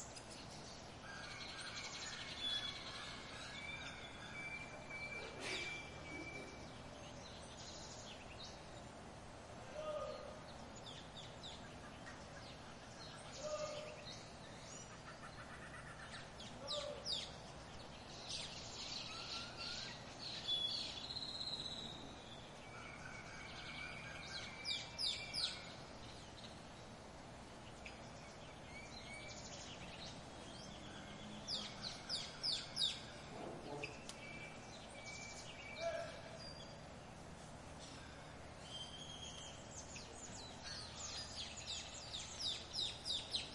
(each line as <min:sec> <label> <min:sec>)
0:00.0 tropical birds 0:43.5